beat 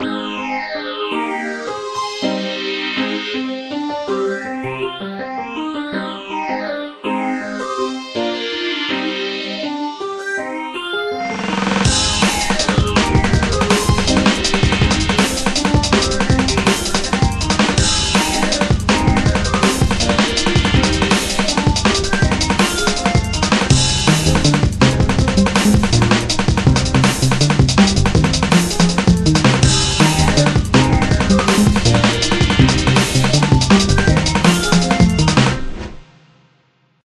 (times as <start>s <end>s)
11.4s 35.9s